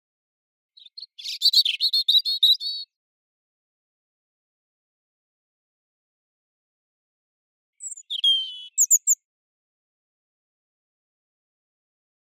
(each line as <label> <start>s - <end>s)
robin birdsong 0.8s - 2.9s
robin birdsong 7.8s - 9.2s